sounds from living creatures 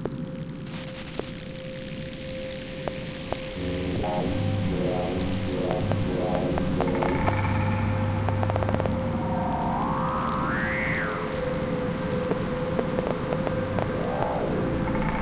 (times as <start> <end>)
3.4 15.2